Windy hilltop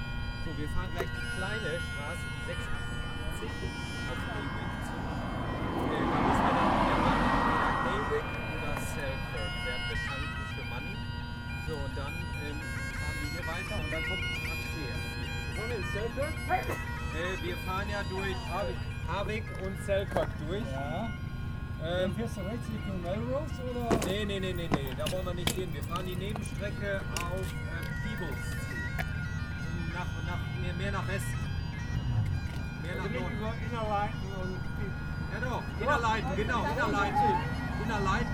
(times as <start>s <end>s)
0.0s 11.3s